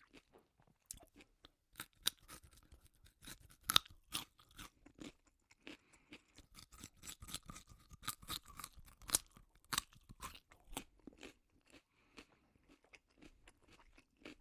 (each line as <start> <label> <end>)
0.0 eating carrots 14.4